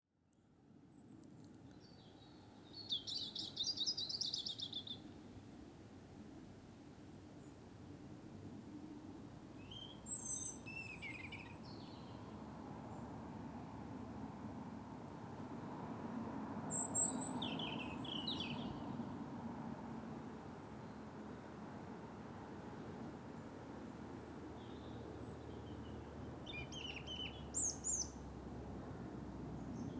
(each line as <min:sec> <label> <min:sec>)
0:02.8 Robins singing 0:05.0
0:09.7 Robins singing 0:12.2
0:16.7 Robins singing 0:18.8
0:26.5 Robins singing 0:28.2